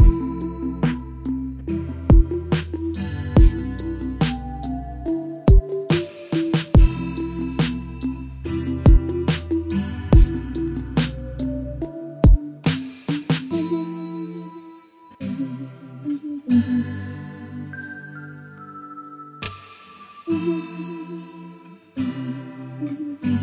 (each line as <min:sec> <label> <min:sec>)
0:00.0 Lofi beat 0:14.0